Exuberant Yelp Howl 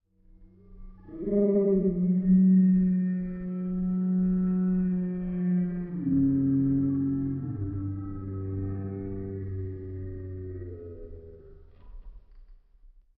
1.0 11.5

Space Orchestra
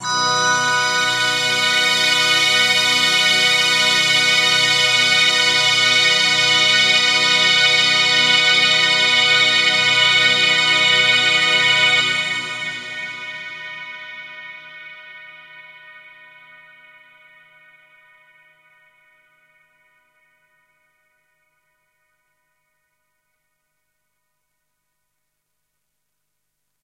0.0 14.9

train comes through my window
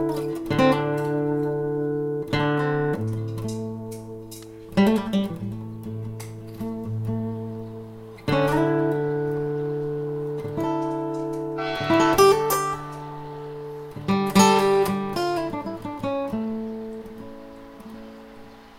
9.5 18.7

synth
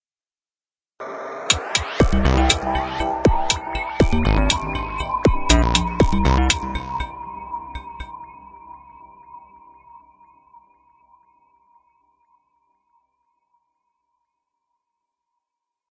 1.0 10.2

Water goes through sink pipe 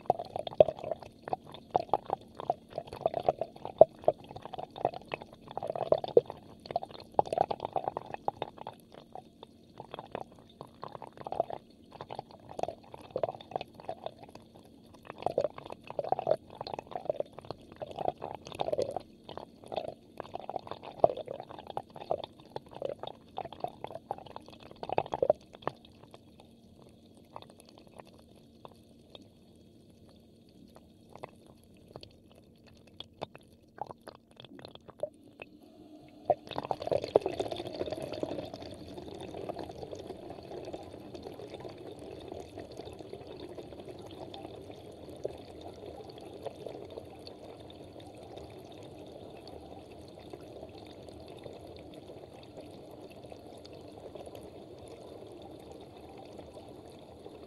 30.7 57.4

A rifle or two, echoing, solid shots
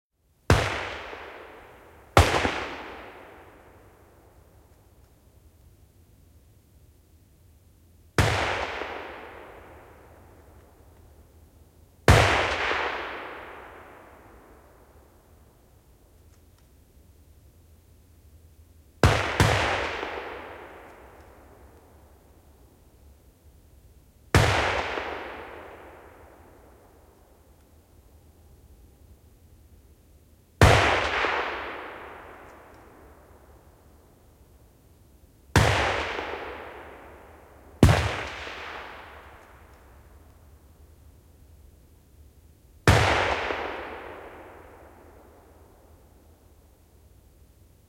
0.4 5.0, 8.2 11.4, 12.0 15.6, 19.0 22.6, 24.3 27.8, 30.6 34.1, 35.5 40.6, 42.8 46.6

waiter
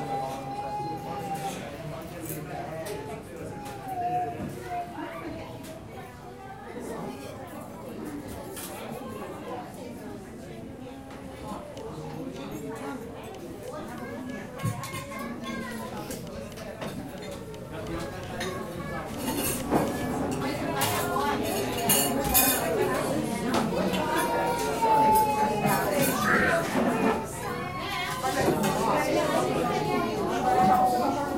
0.0 4.9

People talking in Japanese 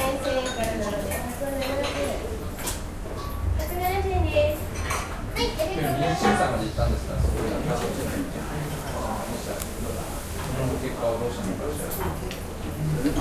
3.6 13.2

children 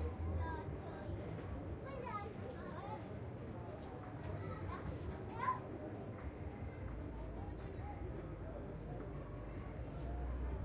1.8 3.0, 4.2 5.7

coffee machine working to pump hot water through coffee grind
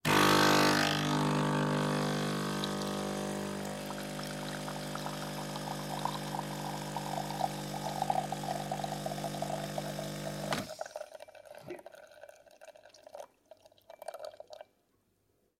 0.1 11.2

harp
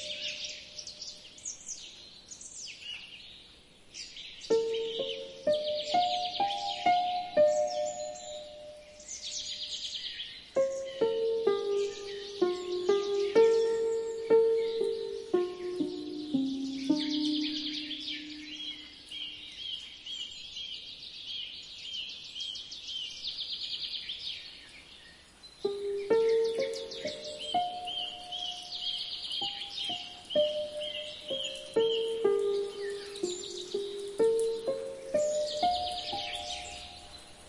4.5 9.5, 10.6 19.2, 25.7 37.4

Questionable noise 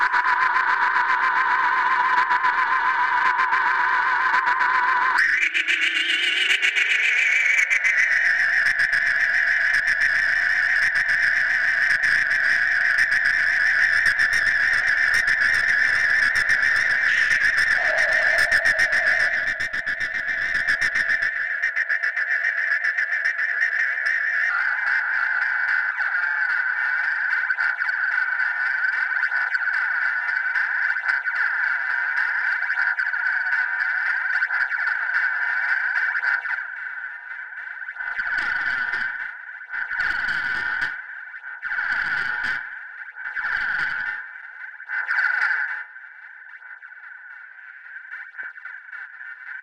16.2 21.3

